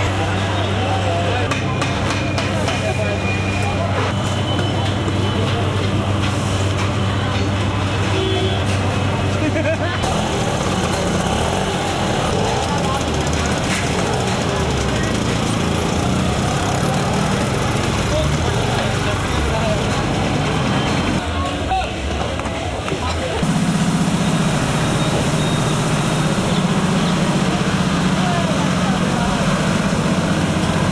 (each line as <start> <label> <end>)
0.0 Construction Works 30.9
0.0 buses 30.9
0.0 hawkers offering their products to pedestrians 30.9
0.0 traffic jam with honking cars 30.9
0.0 tuktuks 30.9